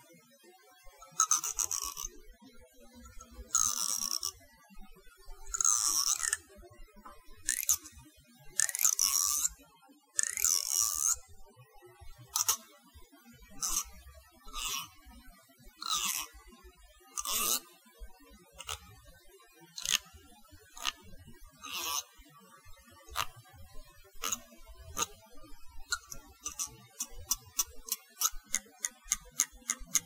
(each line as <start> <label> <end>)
1.0 comb teeth zip 2.1
3.1 comb teeth zip 4.3
5.5 comb teeth zip 6.4
7.5 comb teeth zip 7.9
8.6 comb teeth zip 9.5
10.2 comb teeth zip 11.2
12.3 comb teeth zip 12.6
13.6 comb teeth zip 13.9
14.5 comb teeth zip 14.9
15.8 comb teeth zip 16.3
17.2 comb teeth zip 17.6
18.6 comb teeth zip 18.8
19.8 comb teeth zip 20.1
20.8 comb teeth zip 21.0
21.6 comb teeth zip 22.1
23.1 comb teeth zip 23.3
24.2 comb teeth zip 25.1
25.9 comb teeth zip 30.0